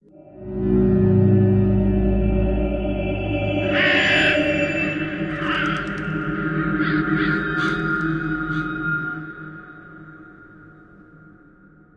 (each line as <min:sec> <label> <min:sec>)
0:00.2 drone 0:10.7
0:03.6 crow effect 0:09.4